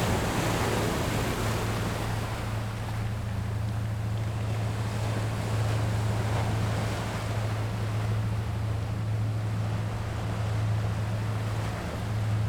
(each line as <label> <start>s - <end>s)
waves 0.0s - 12.4s